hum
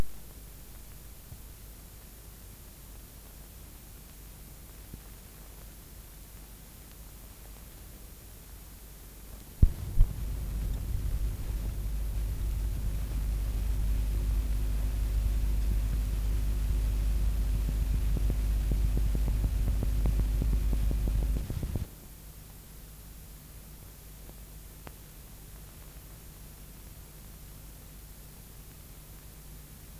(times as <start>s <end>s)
9.6s 21.9s